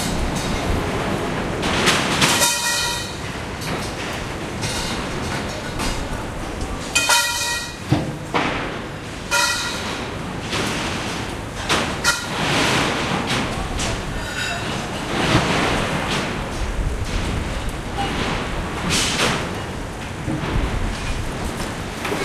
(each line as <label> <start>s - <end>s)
machine 0.0s - 22.2s
clang 7.0s - 7.8s